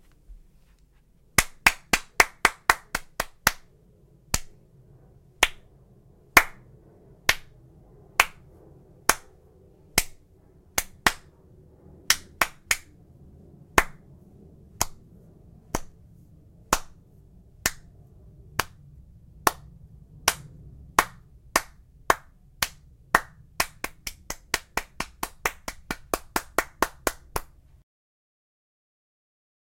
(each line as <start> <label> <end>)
1.4 various clapping 3.7
4.3 various clapping 4.6
5.4 various clapping 5.7
6.4 various clapping 6.7
7.3 various clapping 7.6
8.2 various clapping 8.5
9.1 various clapping 9.4
10.0 various clapping 10.2
10.8 various clapping 11.3
12.1 various clapping 12.9
13.7 various clapping 14.1
14.8 various clapping 15.1
15.7 various clapping 16.0
16.7 various clapping 17.0
17.6 various clapping 17.9
18.6 various clapping 18.8
19.4 various clapping 27.8